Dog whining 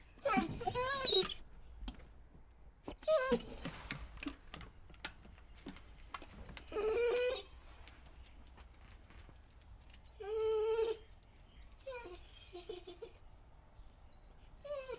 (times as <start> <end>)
0.2 1.4, 2.8 3.7, 6.6 7.6, 10.1 11.1, 11.8 13.2, 14.1 14.9